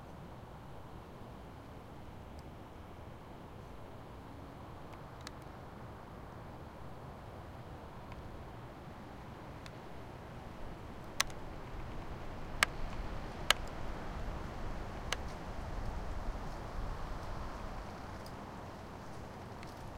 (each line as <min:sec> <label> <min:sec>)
0:00.0 wind 0:19.9